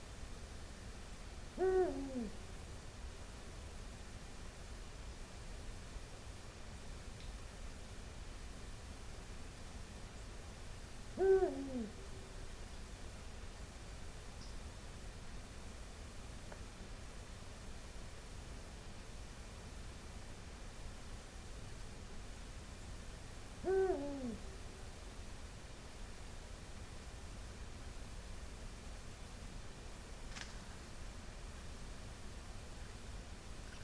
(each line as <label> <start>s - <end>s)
Eagle Owl 1.5s - 2.4s
Eagle Owl 11.1s - 12.3s
Eagle Owl 23.6s - 24.6s
Eagle Owl 33.6s - 33.8s